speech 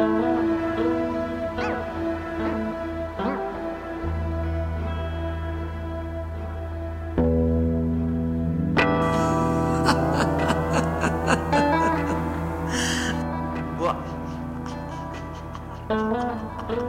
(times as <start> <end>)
13.8 15.0